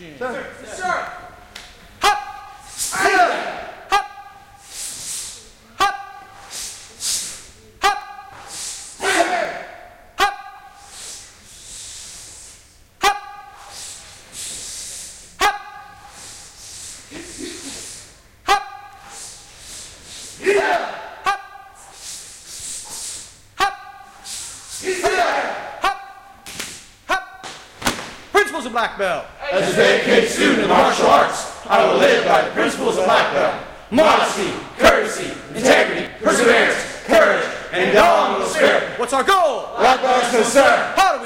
Instructor who is calling out the moves 0.0 - 1.4
Students practice hard 0.0 - 41.2
Instructor who is calling out the moves 2.0 - 4.4
Instructor who is calling out the moves 5.7 - 6.5
Instructor who is calling out the moves 7.8 - 10.8
Instructor who is calling out the moves 13.0 - 13.7
Instructor who is calling out the moves 15.4 - 16.1
Instructor who is calling out the moves 18.4 - 19.2
Instructor who is calling out the moves 23.6 - 24.2
Instructor who is calling out the moves 24.8 - 26.4
Instructor who is calling out the moves 27.1 - 27.5
Instructor who is calling out the moves 38.5 - 41.2

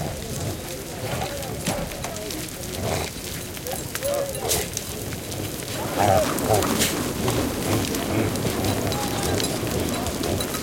herd of reindeer is driven into a churn 0.0 - 10.6
human voices 0.0 - 10.6
grunting 2.7 - 4.8
grunting 5.7 - 8.6
dog 5.8 - 7.0
bells 8.4 - 10.6

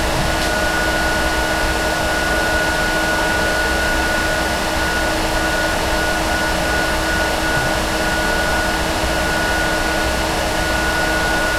Fan noise 0.0 - 11.5

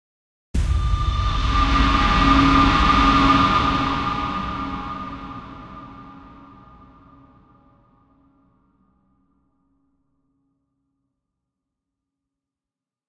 Impact 0.6 - 7.7

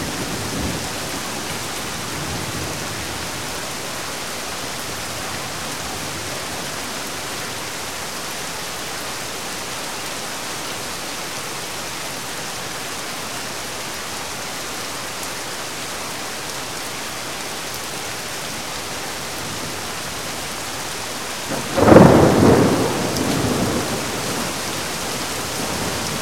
Heavy Rain 0.0 - 26.2
wind 0.0 - 26.2
Thunder 21.5 - 24.8

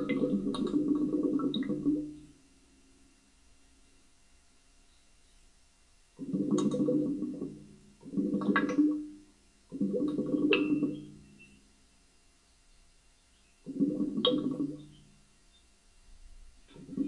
gurgling radiator 0.0 - 2.4
gurgling radiator 6.1 - 11.4
gurgling radiator 13.6 - 15.2
gurgling radiator 16.3 - 17.0

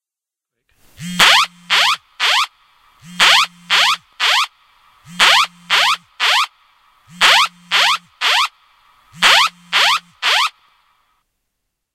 alarm 1.0 - 4.5
alarm 5.1 - 10.6

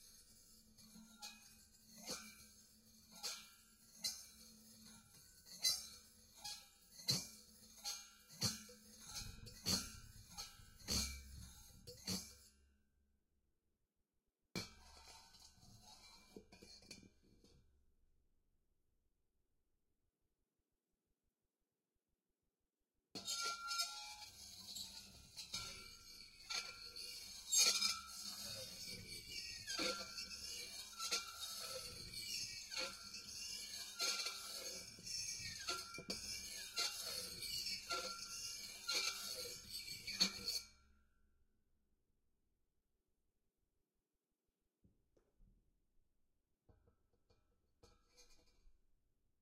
dragged a knife along the edge and inside 23.2 - 40.7

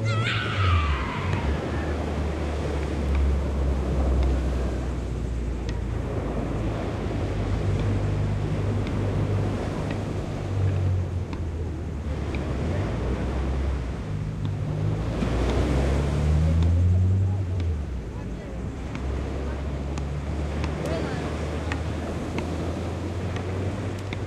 people 0.0 - 3.3
seawaves 0.0 - 24.2
people 16.3 - 24.2

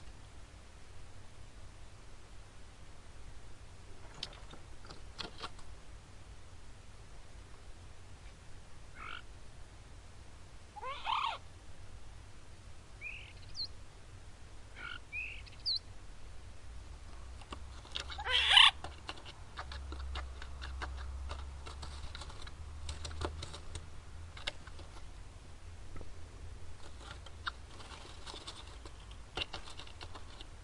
starling bird moving and twittering in a cave 17.2 - 25.2
starling bird moving and twittering in a cave 26.8 - 30.6

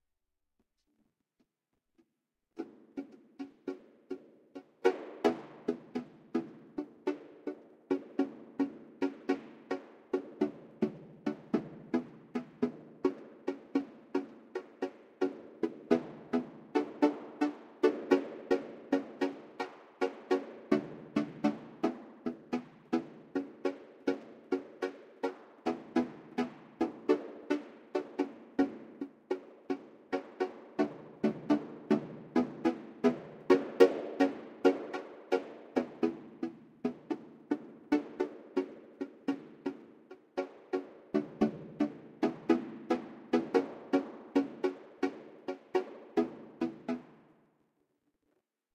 Microphone rhythmically tapped and set to a vocoder 4.6 - 47.2

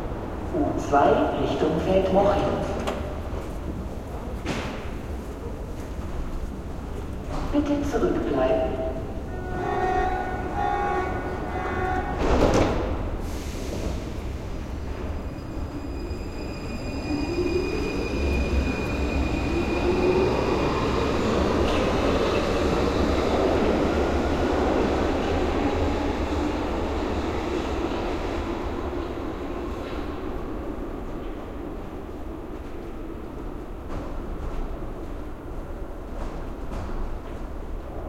subway train entering the station 0.0 - 38.0
Doors open 11.2 - 14.2

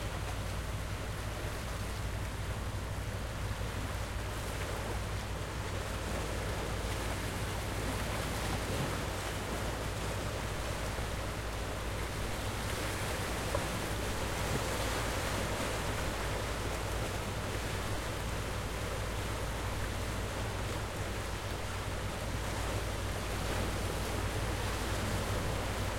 Low hum of fishing boat 0.0 - 25.9

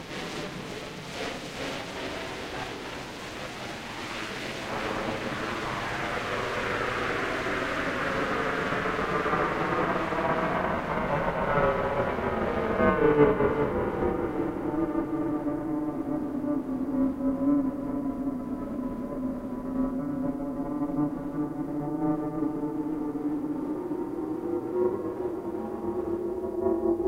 filtered noise 0.0 - 12.6

